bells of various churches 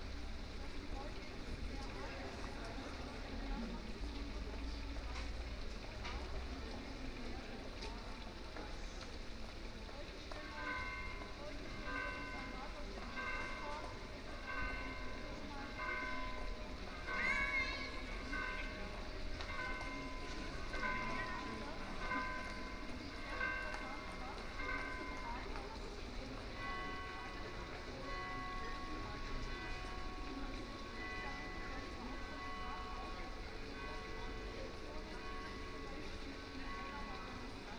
9.8s 37.7s

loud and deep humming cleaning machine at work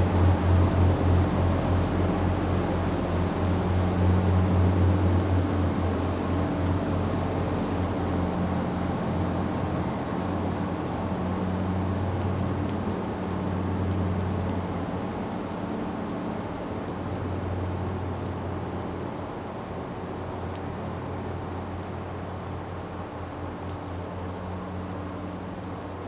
0.0s 17.8s

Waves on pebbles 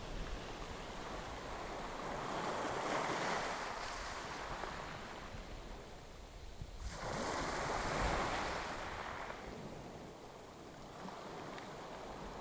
0.0s 5.3s, 6.8s 9.8s

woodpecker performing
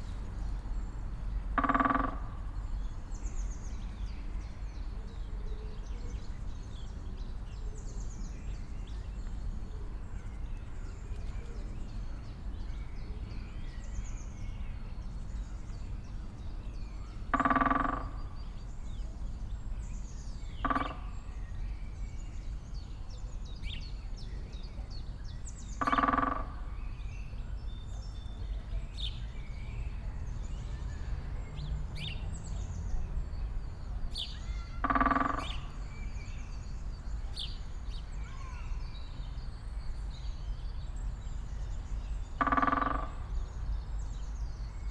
34.7s 35.8s

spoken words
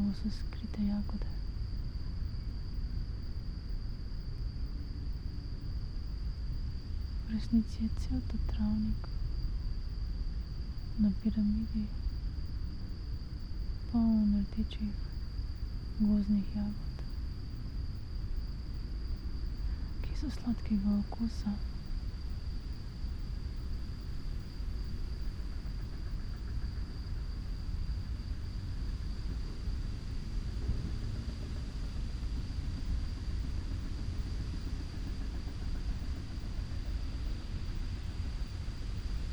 7.3s 8.9s, 14.0s 14.9s, 16.0s 16.9s, 20.1s 21.6s

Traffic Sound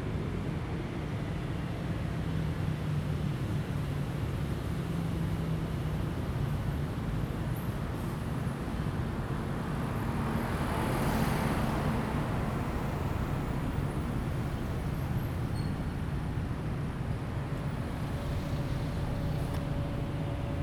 9.9s 20.6s

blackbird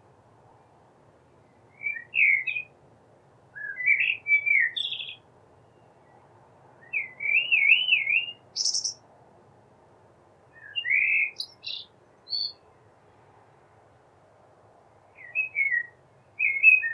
1.8s 2.7s, 3.6s 6.2s, 6.8s 9.0s, 10.6s 12.6s, 15.2s 16.9s

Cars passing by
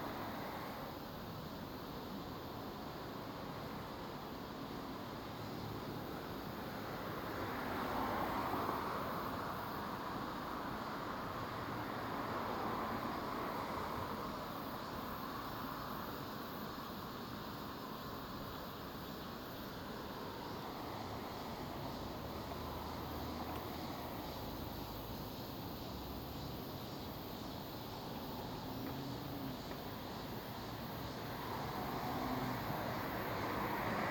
0.0s 1.1s, 5.7s 16.0s, 19.7s 34.1s

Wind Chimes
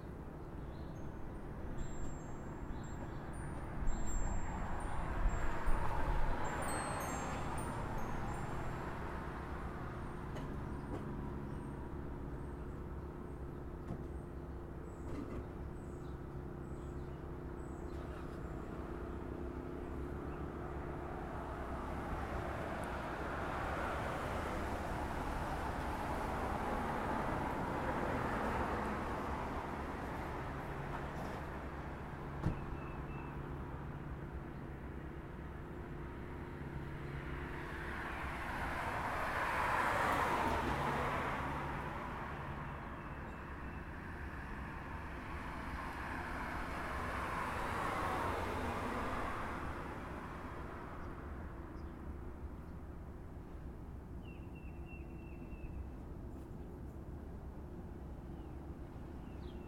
1.8s 9.6s

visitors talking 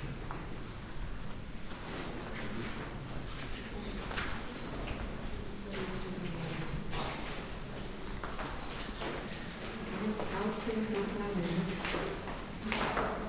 3.5s 13.2s

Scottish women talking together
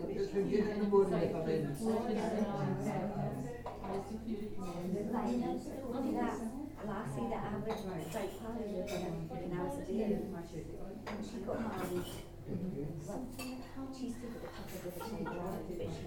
14.0s 16.0s

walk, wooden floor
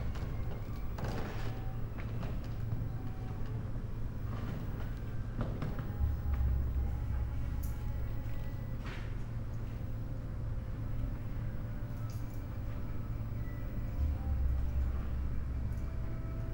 4.2s 6.5s

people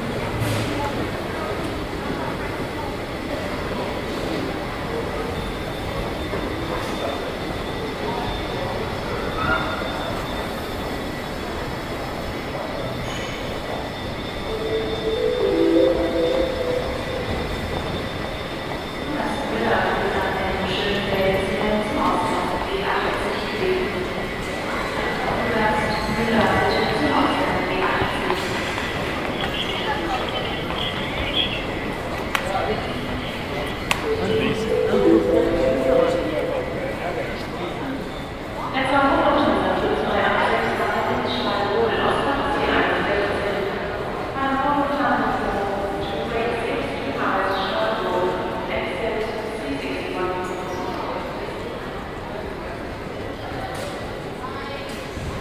14.4s 18.1s, 24.8s 43.6s

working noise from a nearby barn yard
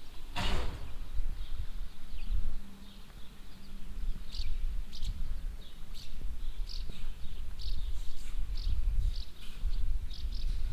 0.0s 2.0s, 5.5s 10.7s

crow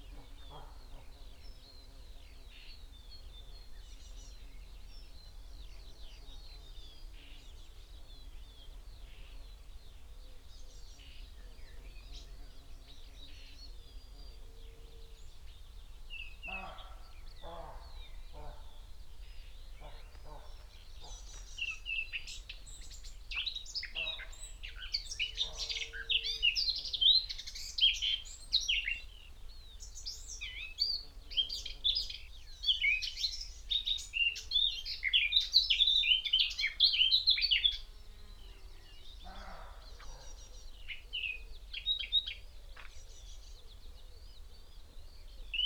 39.2s 40.6s

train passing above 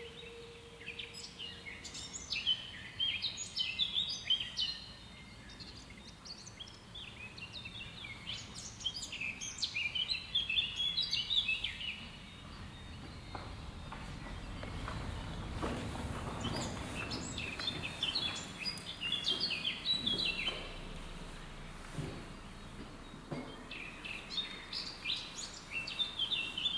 12.1s 25.7s

